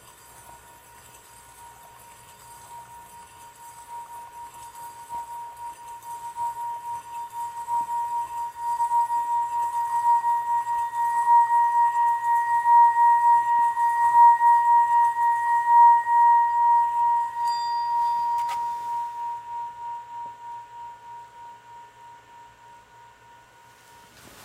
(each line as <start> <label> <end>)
0.0 Tibetian singing bowl being rubbed with a wooden rod 24.4